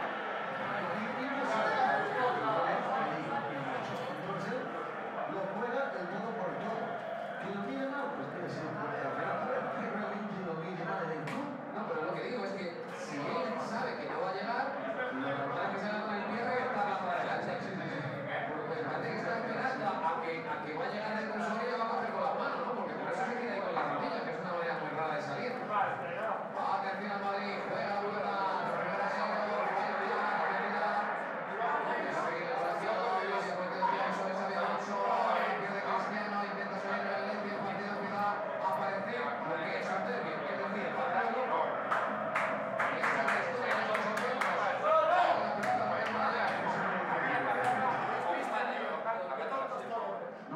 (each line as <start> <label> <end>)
0.0 football on tv 50.5